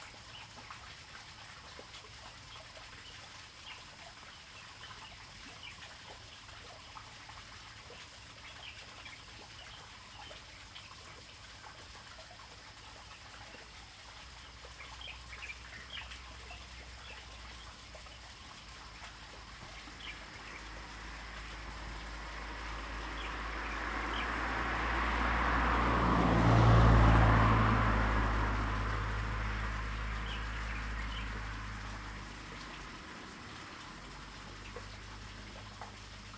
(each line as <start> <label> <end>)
14.2 Water sound 36.3
30.0 Birds singing 31.6